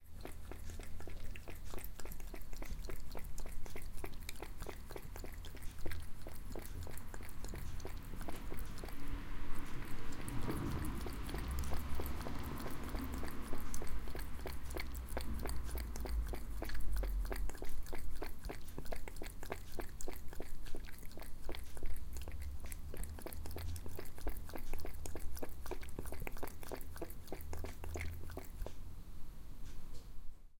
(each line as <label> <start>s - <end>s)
cat drinking water 0.0s - 28.8s
car is passing by 8.2s - 16.0s